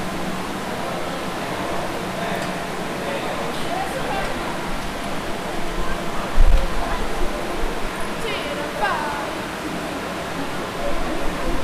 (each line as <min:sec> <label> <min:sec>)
0:00.0 Waterfals 0:11.6
0:00.0 lots of air streams 0:11.6